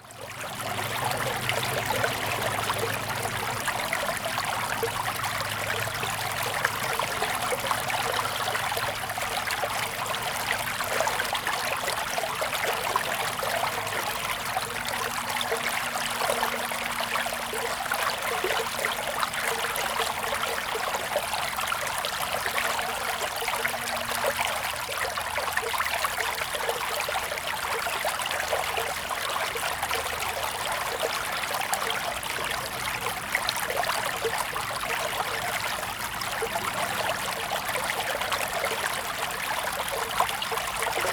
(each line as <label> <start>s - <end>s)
Agricultural irrigation channels 0.0s - 41.1s